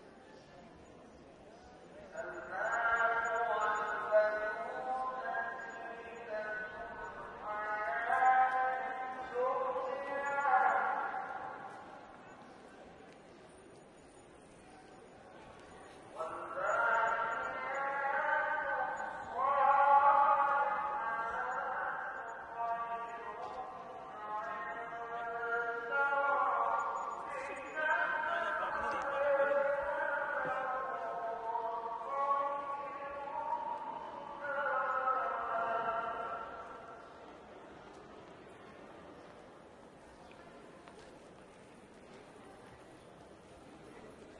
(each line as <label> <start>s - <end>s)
wind 0.0s - 44.3s
prayer 1.4s - 13.2s
prayer 14.6s - 37.3s